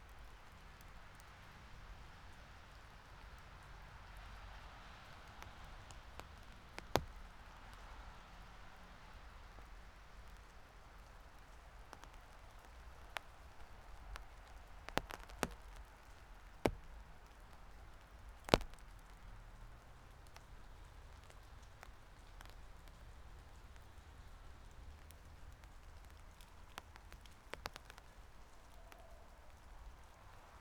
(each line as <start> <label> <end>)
0.0 rain drops falling from leaves on my umbrella 30.6